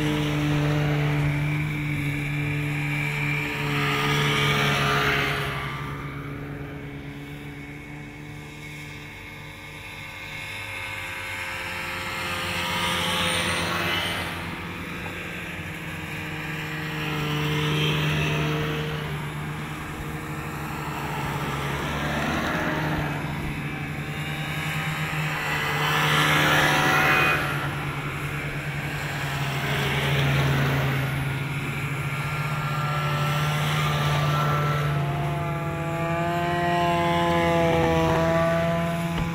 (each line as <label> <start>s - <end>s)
snowmobiles pass by various 0.0s - 39.3s